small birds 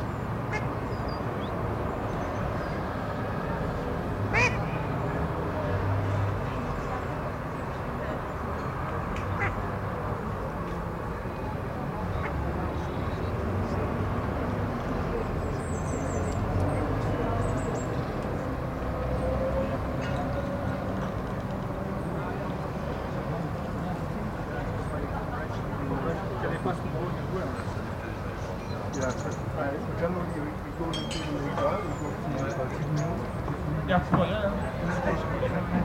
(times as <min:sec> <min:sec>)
0:28.6 0:29.6